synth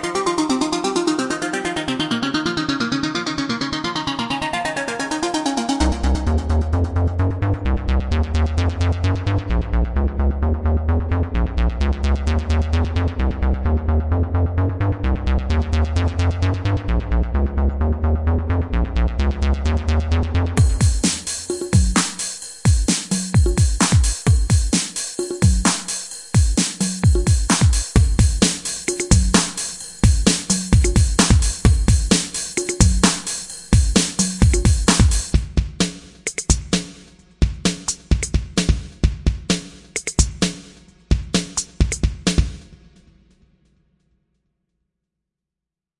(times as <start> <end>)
0.0 11.1